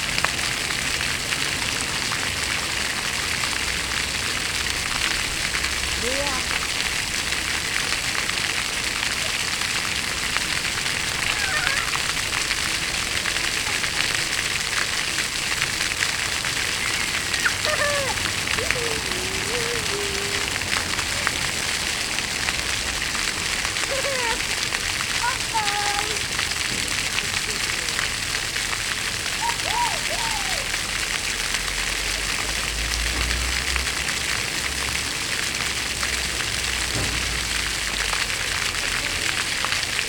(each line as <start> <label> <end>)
15.0 Fontaine au sol 22.5